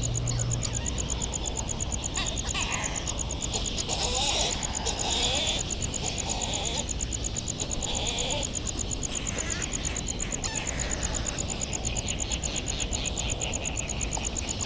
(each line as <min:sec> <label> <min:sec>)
0:00.0 a cricket ticks away the seconds 0:14.6
0:00.2 flight calls and calls from bonin petrels 0:14.6
0:02.1 calls from white terns 0:06.9